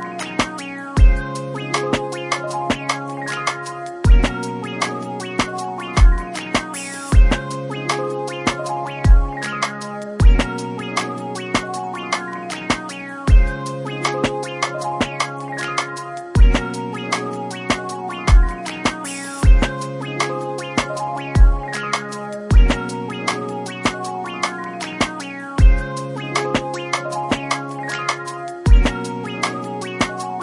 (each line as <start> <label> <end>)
0.0 playful and upbeat melody 30.4